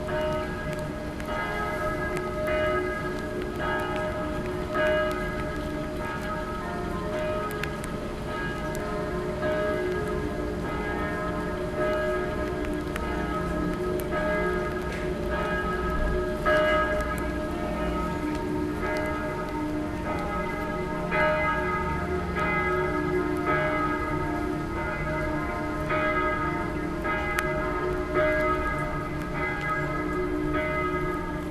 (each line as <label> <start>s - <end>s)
church bells 0.0s - 31.5s